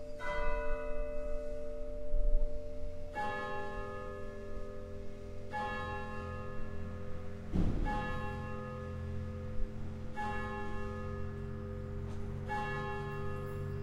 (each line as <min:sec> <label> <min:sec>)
0:00.0 churchbells 0:13.8